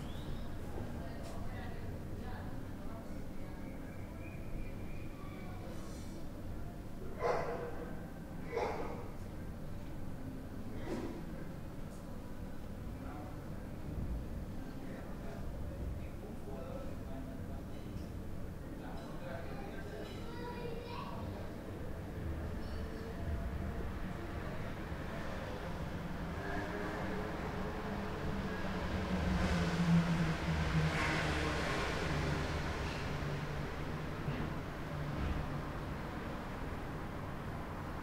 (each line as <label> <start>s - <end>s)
traffic 21.9s - 38.0s